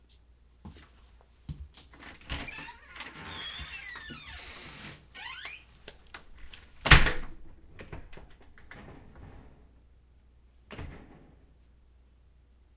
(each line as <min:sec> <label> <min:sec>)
0:01.8 main door 0:09.9
0:02.0 storm door 0:09.8
0:10.6 main door 0:11.8
0:10.7 storm door 0:11.6